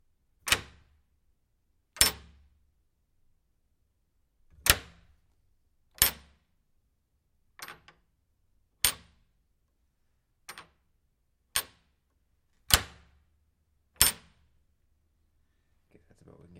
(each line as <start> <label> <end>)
0.4 door wood metal latch grab unlock single and release 0.9
2.0 door wood metal latch grab unlock single and release 2.5
4.5 door wood metal latch grab unlock single and release 5.2
6.0 door wood metal latch grab unlock single and release 6.4
7.6 door wood metal latch grab unlock single and release 8.1
8.8 door wood metal latch grab unlock single and release 9.2
10.5 door wood metal latch grab unlock single and release 10.8
11.5 door wood metal latch grab unlock single and release 11.9
12.7 door wood metal latch grab unlock single and release 13.1
14.0 door wood metal latch grab unlock single and release 14.4